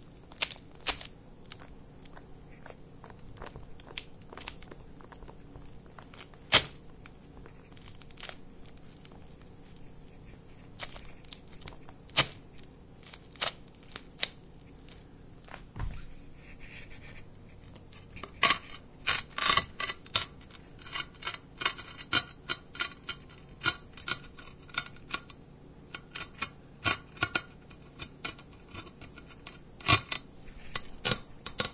17.9s Floor Tile Scraping Concrete 25.3s

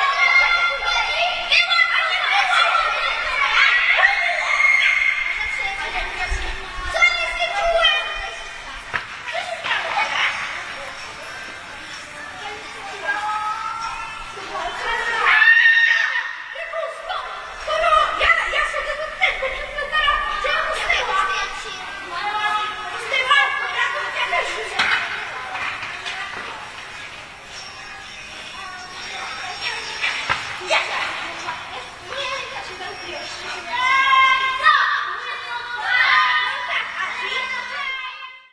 0.0s children's sounds during their play 38.5s
2.8s screaming 5.6s
15.2s screaming 16.6s
30.0s ball 30.6s

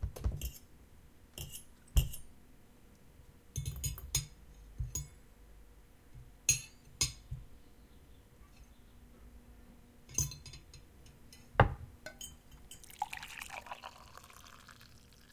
12.8s drink is poured 15.3s
12.8s drinking 15.3s

